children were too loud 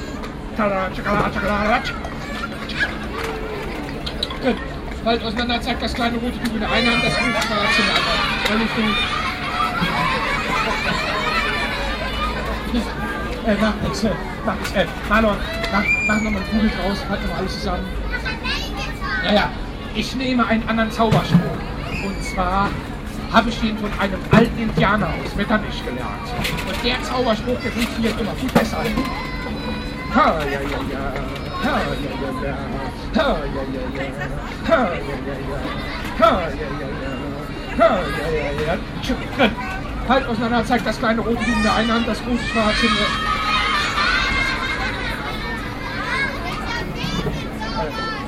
0:01.2 0:05.0, 0:06.6 0:14.5, 0:15.2 0:20.0, 0:26.0 0:32.9, 0:41.1 0:48.2

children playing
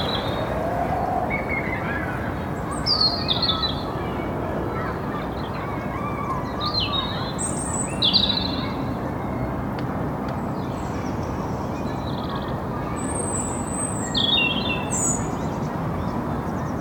0:01.6 0:07.4

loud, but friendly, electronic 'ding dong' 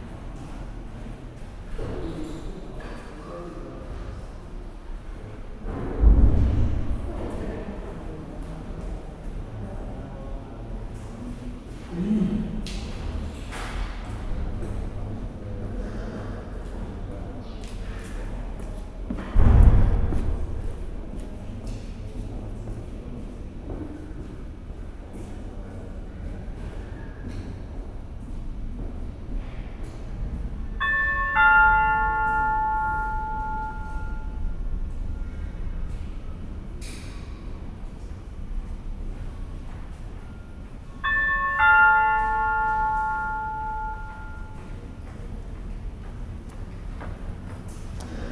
0:30.8 0:34.6, 0:41.0 0:44.6

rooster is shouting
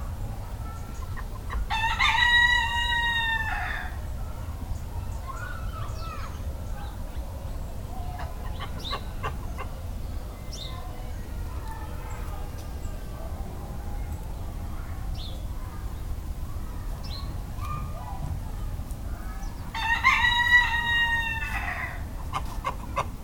0:19.7 0:22.0

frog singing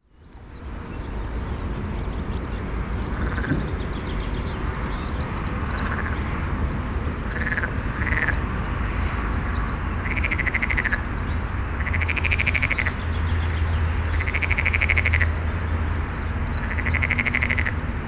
0:05.2 0:15.5, 0:16.4 0:17.8

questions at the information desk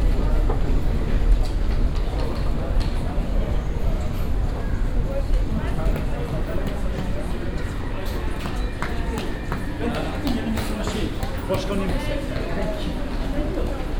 0:04.1 0:13.9

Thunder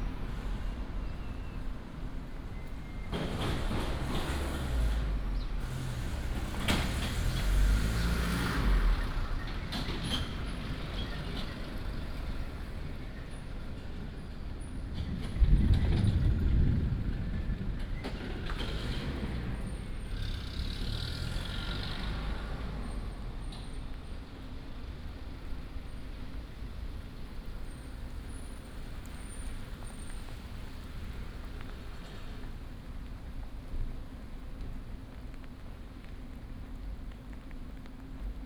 0:03.0 0:09.0, 0:14.9 0:20.3

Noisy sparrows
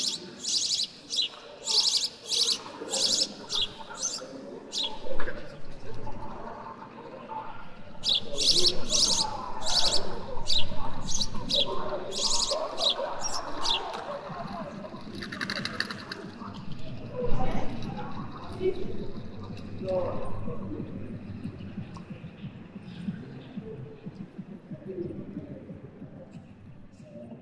0:00.0 0:06.6, 0:07.6 0:16.5

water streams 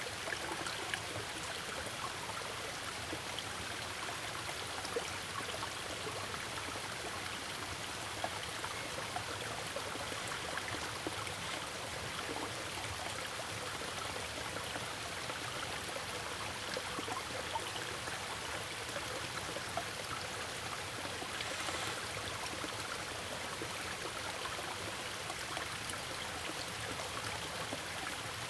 0:14.2 0:28.4

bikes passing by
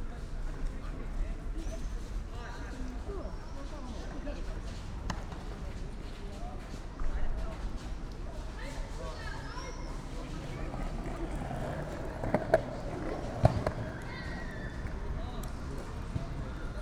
0:09.8 0:16.8

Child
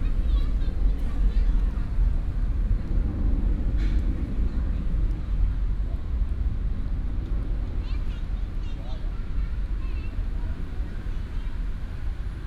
0:07.7 0:10.2

